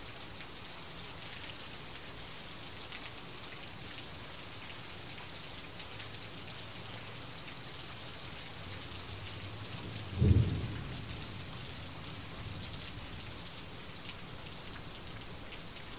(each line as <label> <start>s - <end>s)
rain 0.0s - 15.9s
thunder 9.8s - 12.7s